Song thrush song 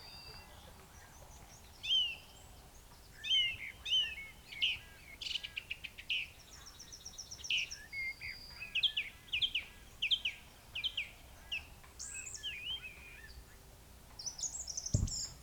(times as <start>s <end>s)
14.2s 15.4s